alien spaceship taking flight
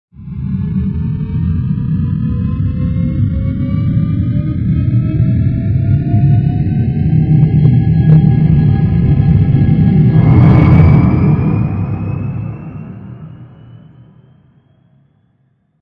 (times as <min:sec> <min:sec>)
0:05.5 0:14.4